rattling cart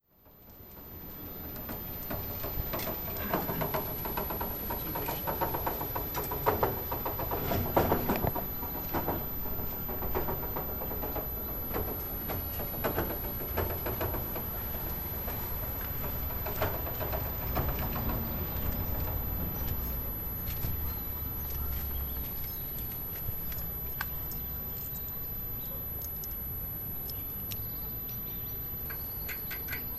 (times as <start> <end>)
0.1 22.6